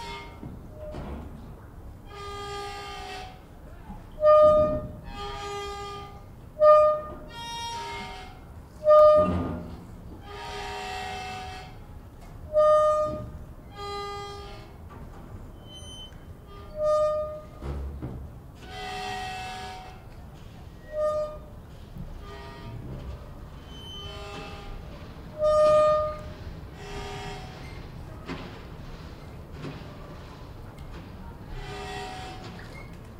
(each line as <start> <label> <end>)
15.5 creak 17.8
20.8 creak 21.5
23.6 creak 27.9
31.6 creak 33.1